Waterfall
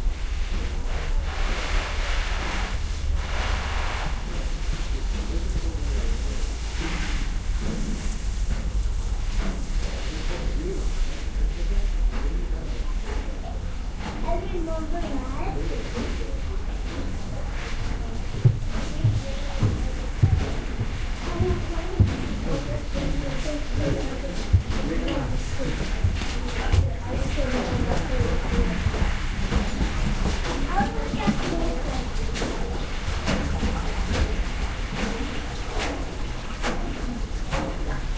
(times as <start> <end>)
0.5 10.6